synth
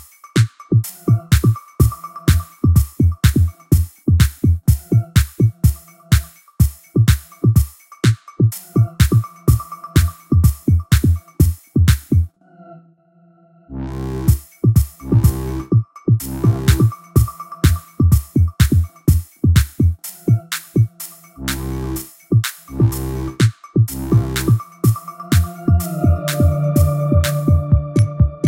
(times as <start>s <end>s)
24.1s 28.4s